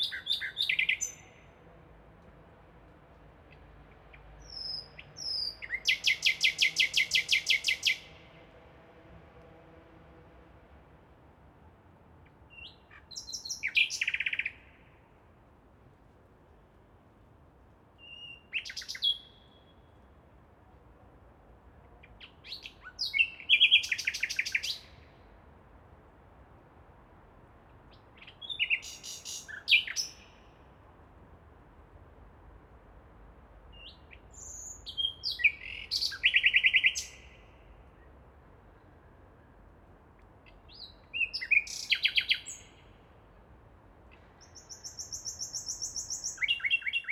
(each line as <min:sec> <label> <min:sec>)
0:00.0 nightingale 0:01.5
0:12.5 nightingale 0:14.9
0:18.0 nightingale 0:20.0
0:22.0 nightingale 0:25.1
0:27.9 nightingale 0:30.5
0:33.8 nightingale 0:37.7
0:40.5 nightingale 0:43.0
0:44.1 nightingale 0:47.1